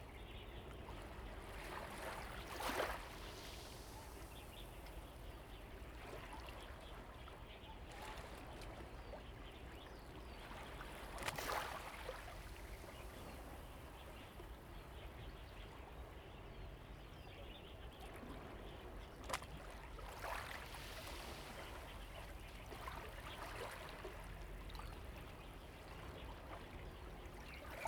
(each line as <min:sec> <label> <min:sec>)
0:00.1 Waves and tides 0:16.4
0:17.8 Waves and tides 0:27.8